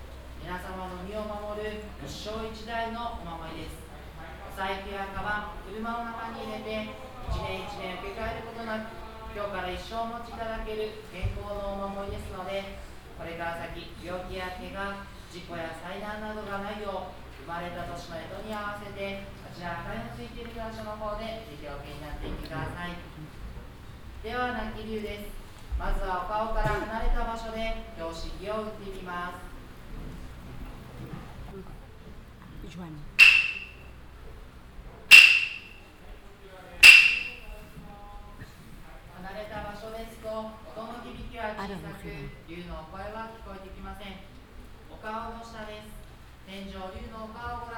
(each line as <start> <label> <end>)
0.1 monk describing the function of the room 23.5